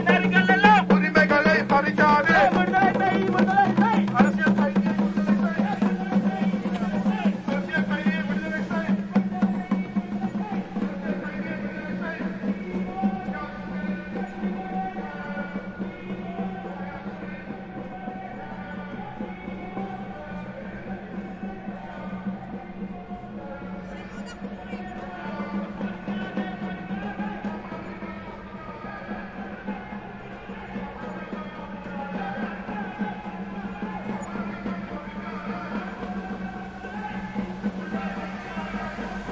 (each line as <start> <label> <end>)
0.0 Demonstration 39.3